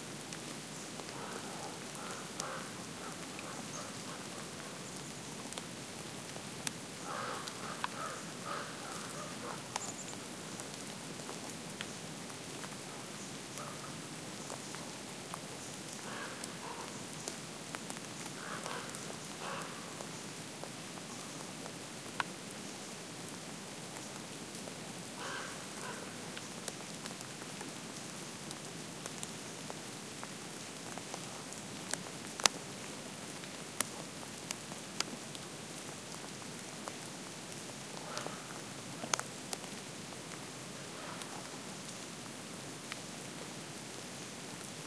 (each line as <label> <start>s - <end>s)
raindrops 0.0s - 44.8s
birds 7.0s - 10.6s